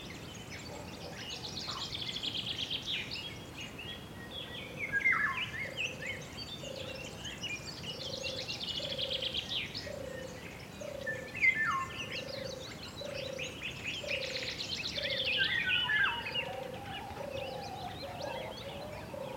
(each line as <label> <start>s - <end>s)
light wind in the trees 0.0s - 19.3s
others birds around 0.0s - 19.3s
few chicken in background 16.0s - 19.3s